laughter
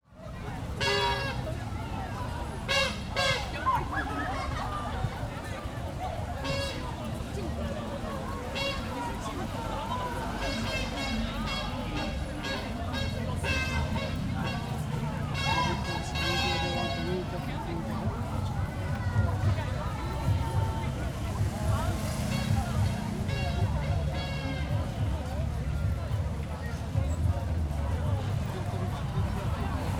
3.6s 5.3s

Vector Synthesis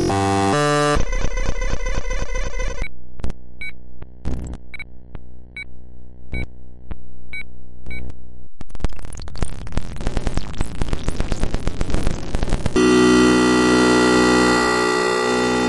12.8s 15.6s

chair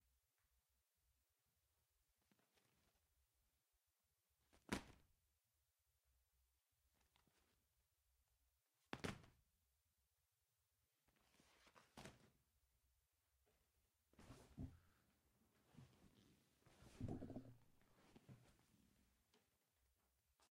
15.8s 18.5s

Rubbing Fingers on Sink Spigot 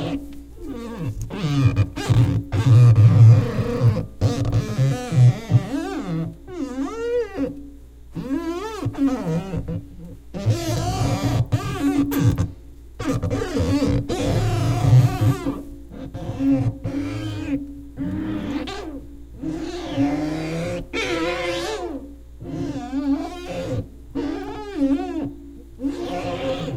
8.2s 26.7s

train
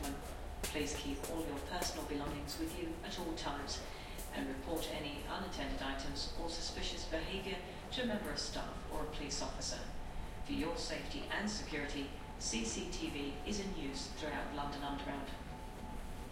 15.1s 16.3s

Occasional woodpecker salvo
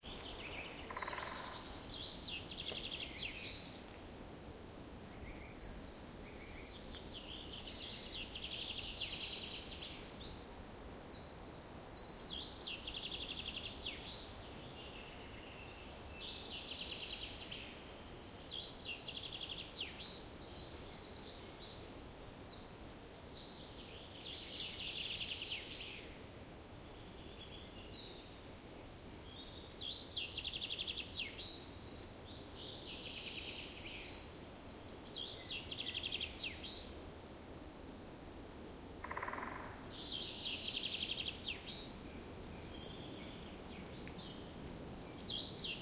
0.0s 4.0s, 39.0s 42.0s

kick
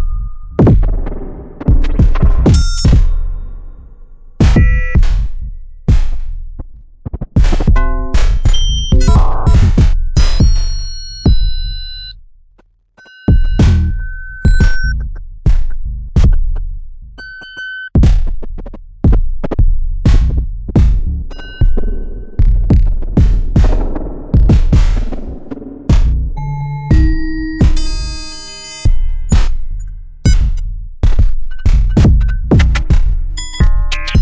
7.4s 11.5s, 18.0s 18.4s, 20.1s 21.1s

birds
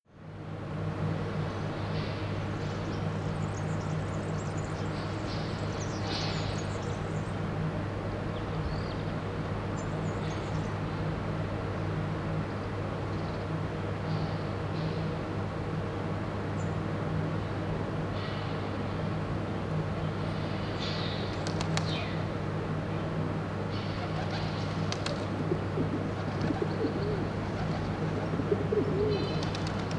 19.9s 29.9s

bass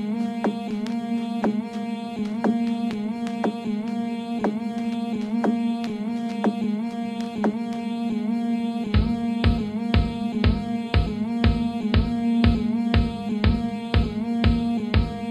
8.9s 15.3s

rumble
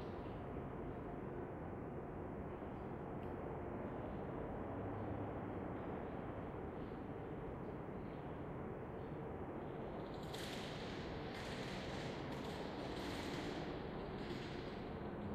3.8s 15.3s

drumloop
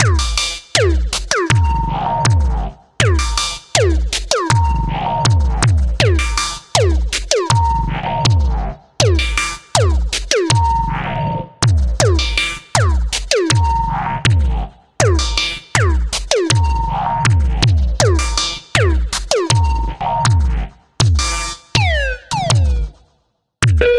0.0s 2.4s

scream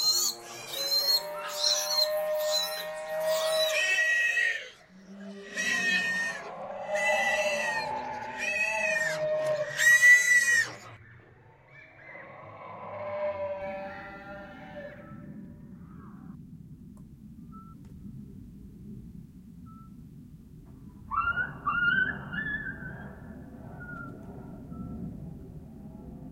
0.0s 11.0s

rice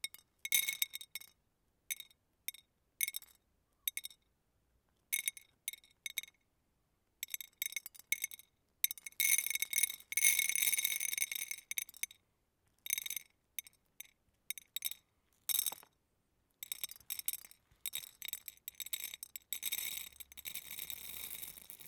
20.4s 21.8s

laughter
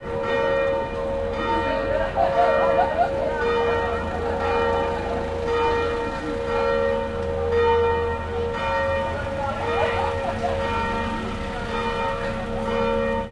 1.7s 5.2s, 9.8s 11.0s

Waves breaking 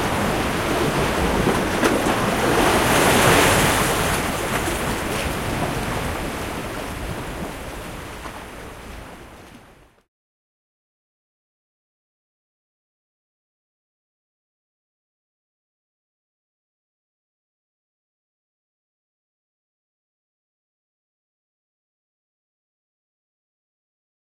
0.0s 10.0s

